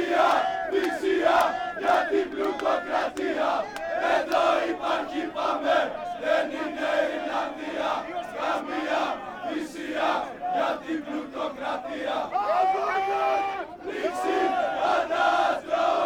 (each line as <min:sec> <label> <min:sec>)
0:00.0 Protesters 0:16.0